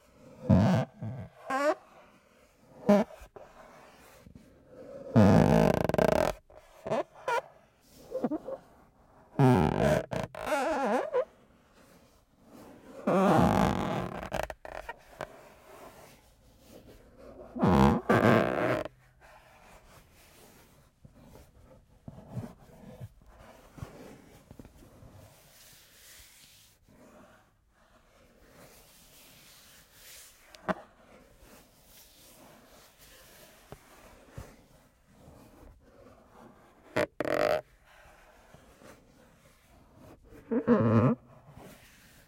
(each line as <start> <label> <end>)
5.1 slowly pressing & moving my fingers on an old Nagra III case 7.4
9.3 slowly pressing & moving my fingers on an old Nagra III case 11.3
13.0 slowly pressing & moving my fingers on an old Nagra III case 25.4
33.3 slowly pressing & moving my fingers on an old Nagra III case 42.2